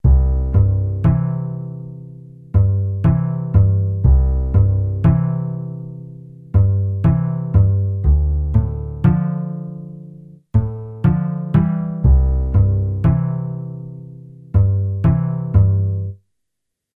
acoustic bass 0.0 - 16.2

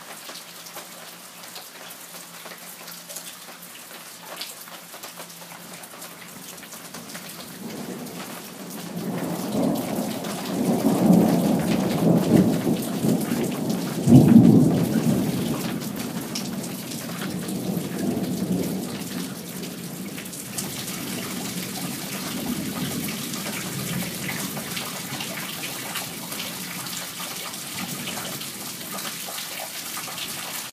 prolonged thunderclap 7.6 - 26.7

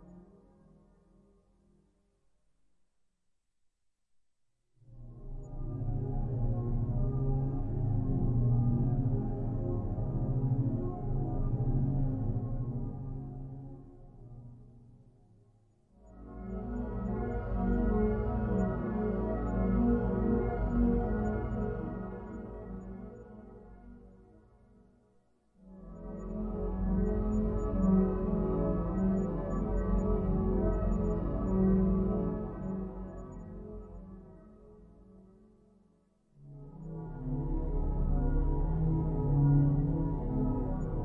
synthesizer 0.0 - 1.6
synthesizer 4.8 - 41.0

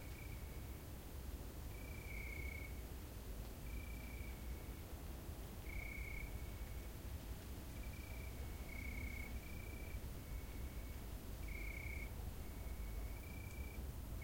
crickets 0.0 - 0.8
crickets 1.6 - 2.9
crickets 3.6 - 7.0
crickets 7.6 - 14.2

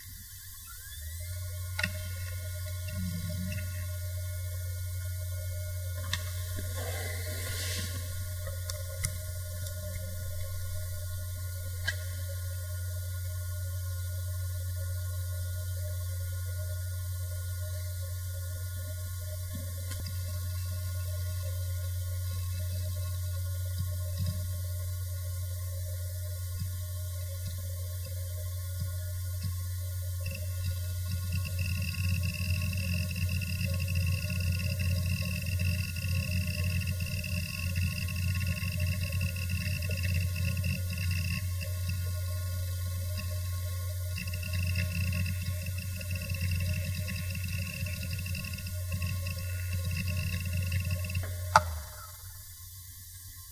hard drive 0.0 - 52.7

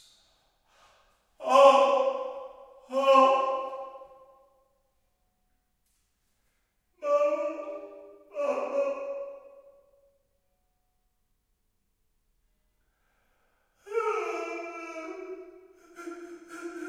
men crying in pain 13.8 - 16.8

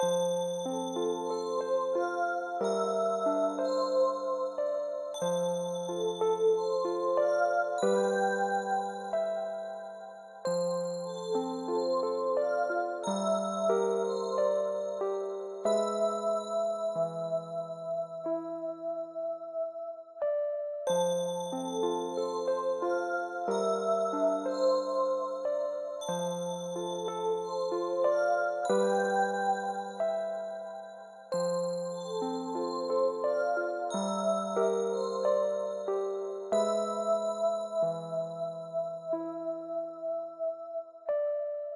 elec piano 0.0 - 41.7

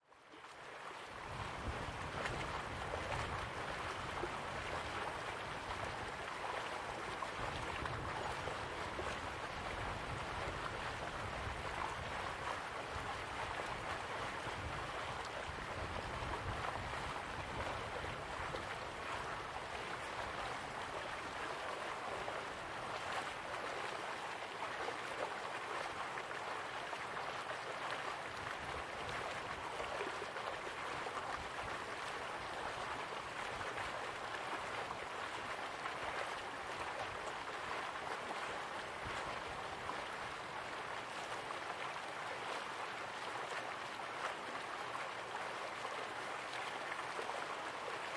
almost-frozen Bow river 0.0 - 48.1

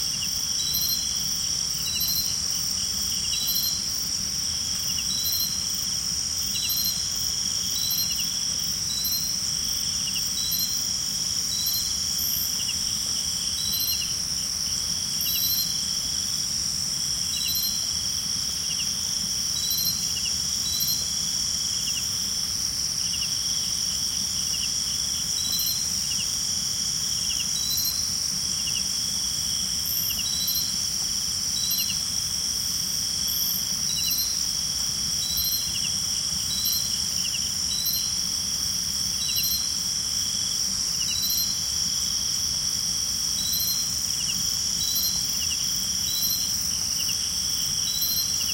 Cicades 0.0 - 48.5

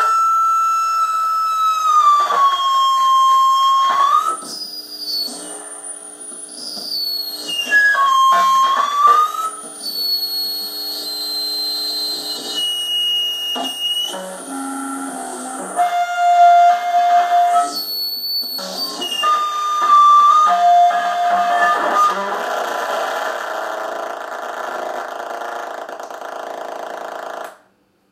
Electric guitar feedback 0.0 - 26.4

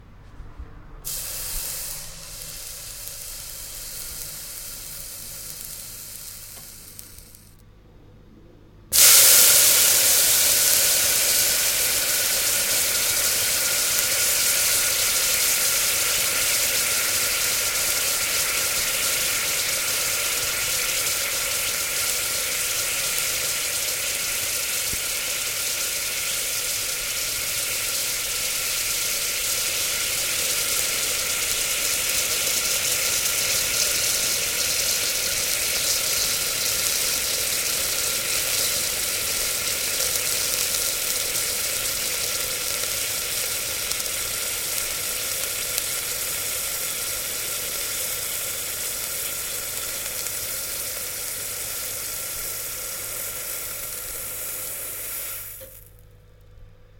Water evaporating once dropped onto a hot pan 8.9 - 56.0

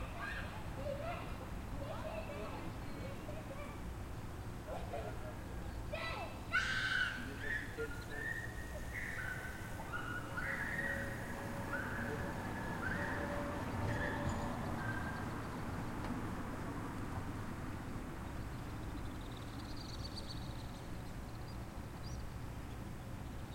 citizents adult and kids passing (talking in french) 0.0 - 16.0
passing vehicules 0.0 - 23.5
birds 0.0 - 23.5

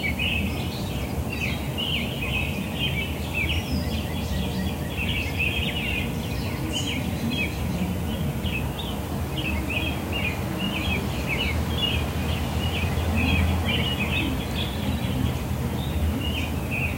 American robins 0.0 - 16.9
low hum of traffic 0.0 - 16.9
northern cardenals 0.0 - 16.9
trains in the distance 0.0 - 16.9

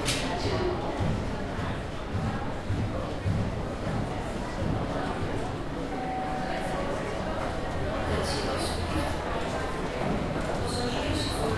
announcement 5.9 - 8.8

